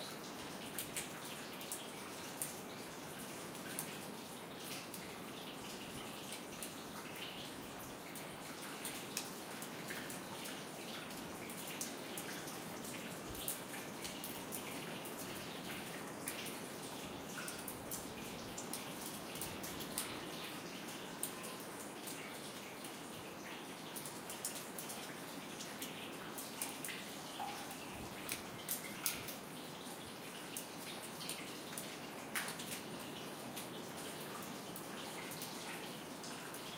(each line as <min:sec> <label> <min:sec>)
0:00.0 draft coming through the whole building 0:36.7
0:00.0 water dripping from the ceiling 0:36.7
0:00.0 water you hear streaming in the background 0:36.7